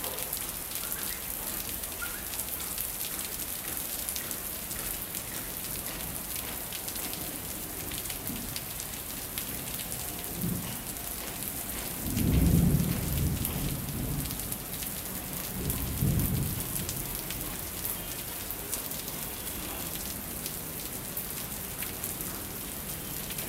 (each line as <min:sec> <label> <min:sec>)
0:00.0 rain 0:23.4
0:00.0 wind 0:23.4
0:12.0 rolling thunder 0:14.7
0:15.3 rolling thunder 0:17.2